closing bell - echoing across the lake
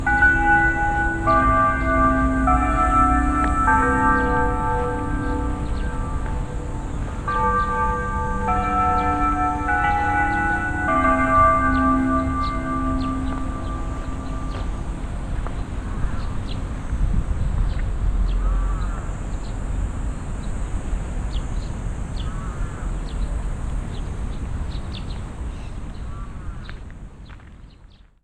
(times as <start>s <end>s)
0.0s 15.9s